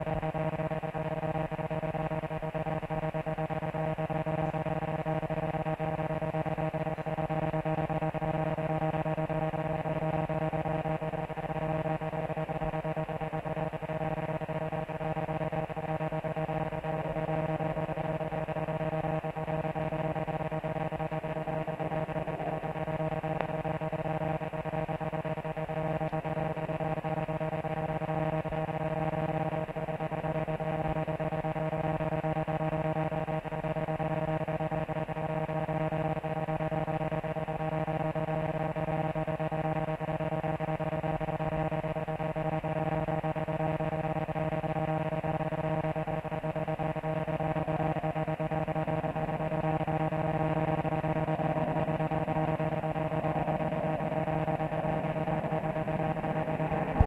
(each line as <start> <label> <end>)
0.0 static noise from a wireless digital video signal 57.0